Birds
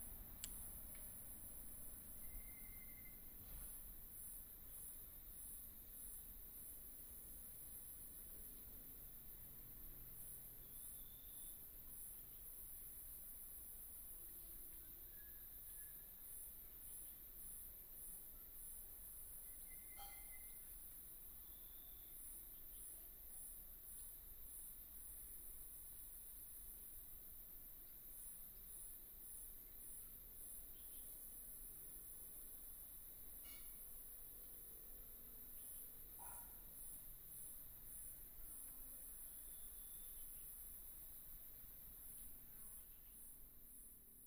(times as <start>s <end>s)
0.0s 3.8s